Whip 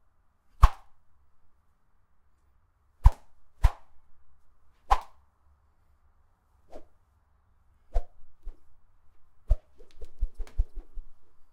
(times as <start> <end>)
0.6 0.9, 3.0 3.8, 4.9 5.1